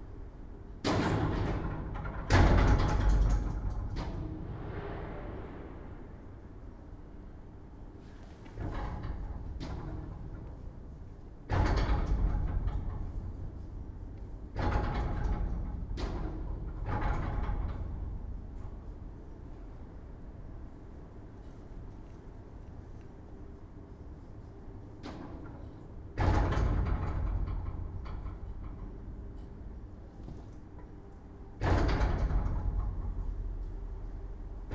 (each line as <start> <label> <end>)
0.0 wind 34.7
31.6 slamming door 33.4